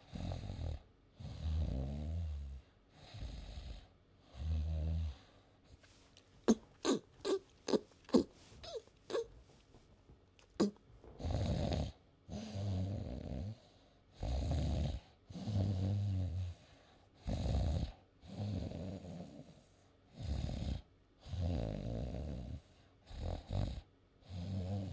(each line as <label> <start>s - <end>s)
man snoring 0.0s - 3.8s
man snoring 4.4s - 5.2s
man snoring 10.6s - 13.6s
man snoring 14.2s - 16.5s
man snoring 17.2s - 19.5s
man snoring 20.2s - 24.9s